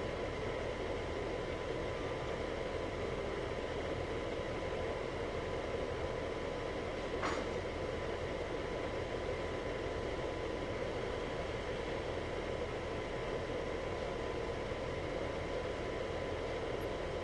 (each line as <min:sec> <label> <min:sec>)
0:00.0 air fan noise 0:17.2